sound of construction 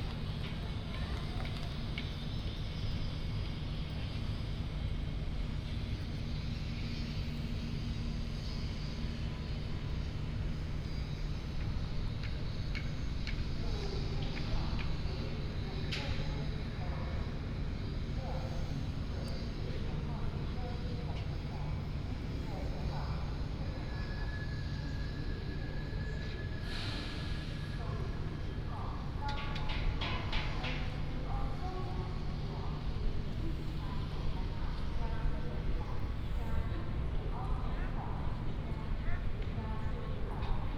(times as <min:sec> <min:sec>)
0:00.0 0:19.4, 0:29.3 0:31.0